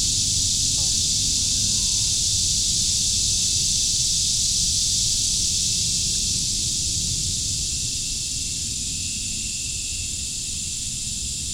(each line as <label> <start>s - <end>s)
green frogs 0.0s - 4.4s
Cicadas 0.0s - 11.5s